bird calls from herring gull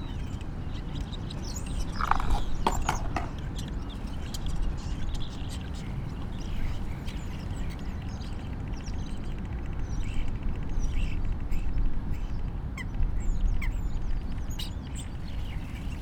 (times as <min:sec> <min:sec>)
0:01.9 0:03.3